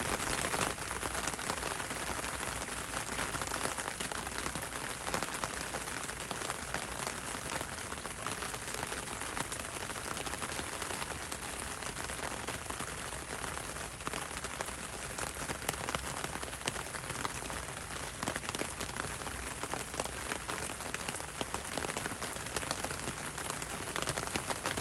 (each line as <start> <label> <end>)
0.0 rain on umbrella 24.8